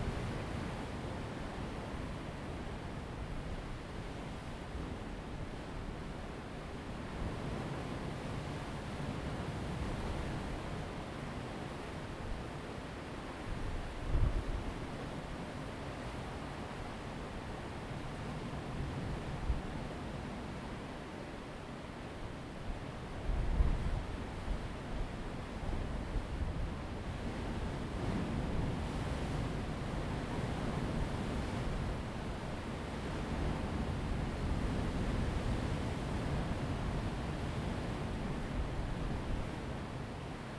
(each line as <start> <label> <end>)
0.0 waves 40.5
0.0 wind 40.5